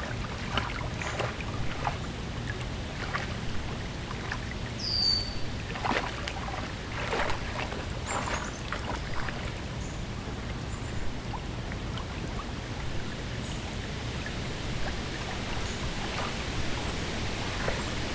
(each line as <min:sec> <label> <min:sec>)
0:00.0 susurration of leaves 0:11.7
0:00.0 creek 0:18.1